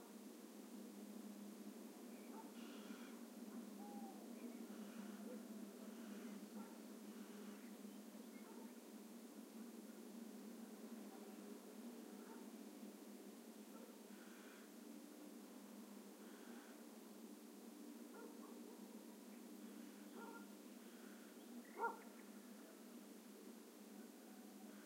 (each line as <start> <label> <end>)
2.1 diurnal birds 8.9
2.3 distant callings from a Barn Owl 6.4
2.6 close callings from a Little Owl 3.2
3.8 close callings from a Little Owl 5.2
16.2 distant callings from a Barn Owl 16.7
18.1 diurnal birds 22.8
18.1 barking dogs 18.6
19.7 distant callings from a Barn Owl 22.2
20.2 barking dogs 20.5
21.8 barking dogs 22.1